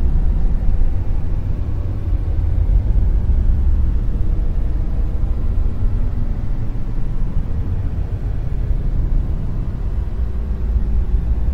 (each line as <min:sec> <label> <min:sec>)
0:00.0 drone 0:11.5
0:00.0 rumble 0:11.5